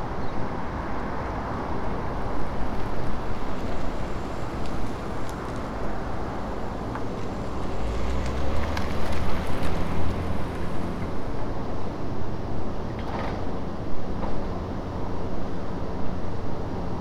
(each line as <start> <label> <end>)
0.0 cars can be heard driving in close proximity 17.0
2.1 people also passed by the recorder on foot 11.4